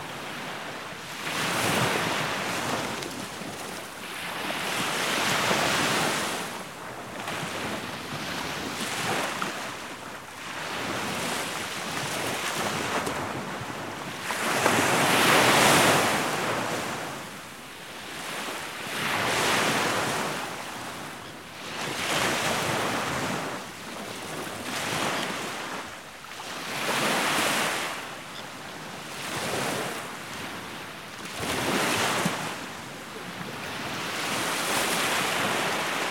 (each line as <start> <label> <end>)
0.0 Sea waves on beach 36.1